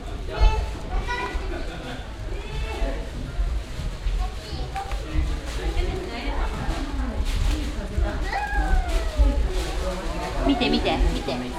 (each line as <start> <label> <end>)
0.0 peoples bare feet on the wooden ground 11.5
0.0 plastic bags where they carry their shoes 11.5